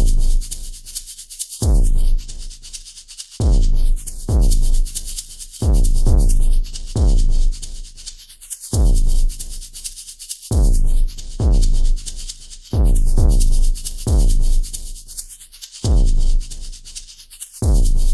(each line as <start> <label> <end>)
0.0 drum 0.6
0.0 bass 1.0
1.6 bass 18.1
1.6 drum 2.5
3.4 drum 8.1
8.7 drum 9.8
10.5 drum 15.2
15.8 drum 18.1